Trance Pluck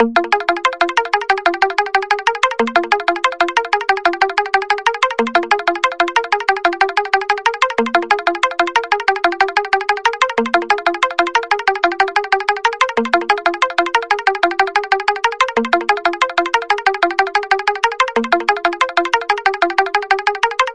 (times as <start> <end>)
0.0 4.7